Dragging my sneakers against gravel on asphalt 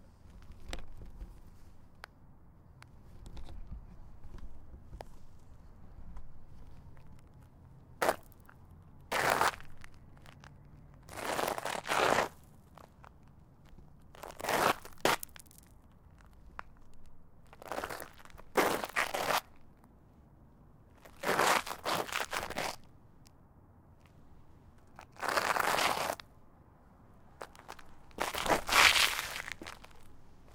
8.0s 19.7s, 21.0s 22.8s, 24.8s 26.3s, 27.3s 30.5s

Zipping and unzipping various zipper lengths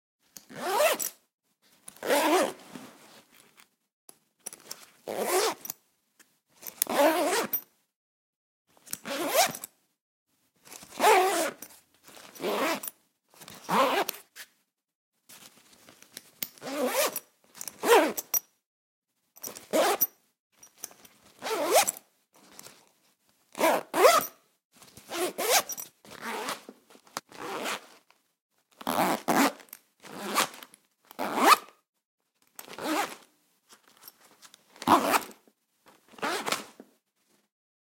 0.4s 1.2s, 1.9s 3.4s, 4.6s 5.8s, 6.6s 7.7s, 8.9s 9.7s, 10.7s 14.4s, 16.5s 18.4s, 19.4s 20.1s, 21.3s 22.8s, 23.5s 24.4s, 25.0s 28.1s, 28.8s 31.8s, 32.6s 33.3s, 34.8s 35.4s, 36.1s 36.8s

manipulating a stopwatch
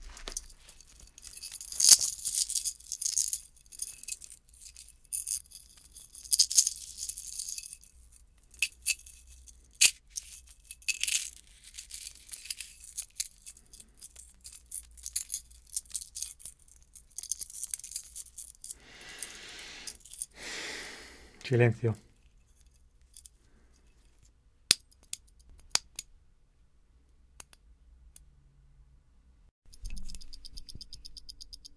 29.7s 31.7s

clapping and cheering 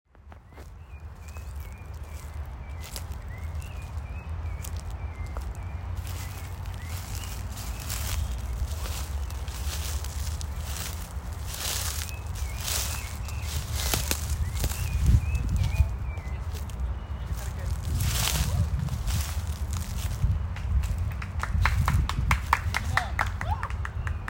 20.4s 24.2s

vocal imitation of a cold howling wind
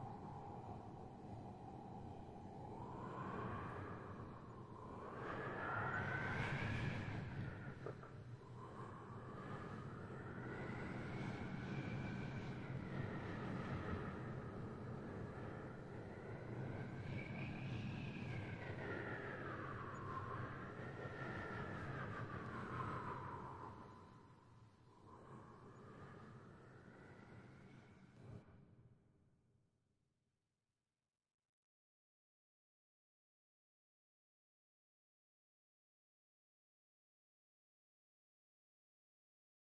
0.0s 28.5s

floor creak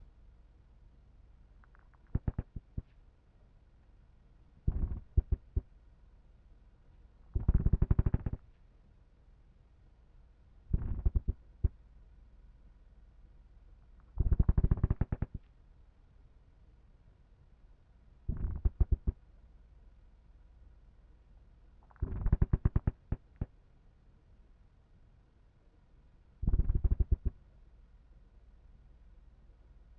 1.7s 3.0s

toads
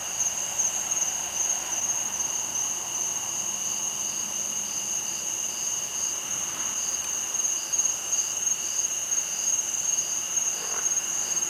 5.6s 11.4s

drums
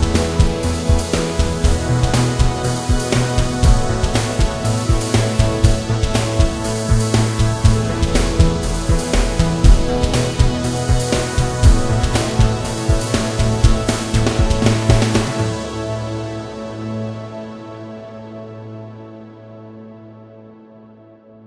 0.0s 16.1s

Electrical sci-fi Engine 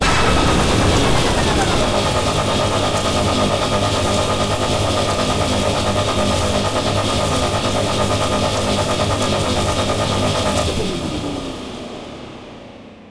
0.0s 6.3s

